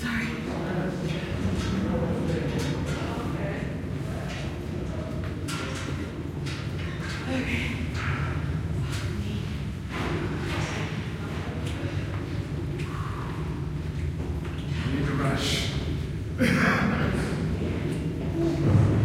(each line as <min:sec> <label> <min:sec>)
0:00.0 people walking up and down an echoey spiral staircase 0:19.0